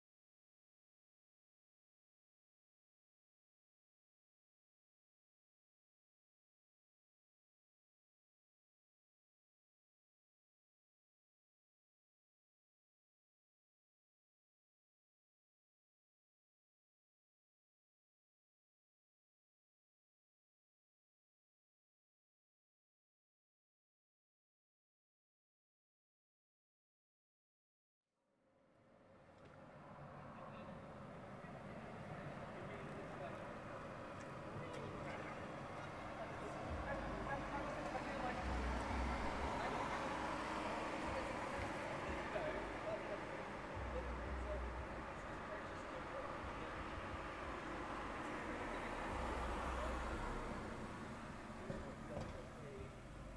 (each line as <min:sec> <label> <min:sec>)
0:28.9 Traffic cars 0:53.3